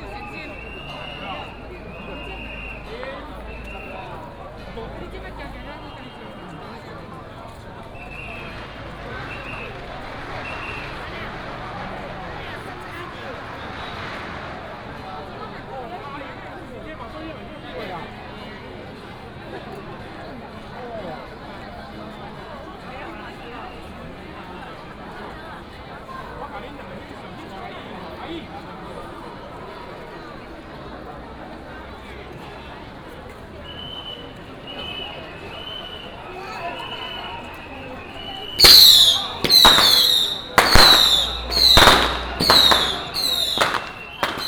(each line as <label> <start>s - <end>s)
Crowded crowd 0.0s - 44.4s
Fireworks and firecrackers sound 38.3s - 44.4s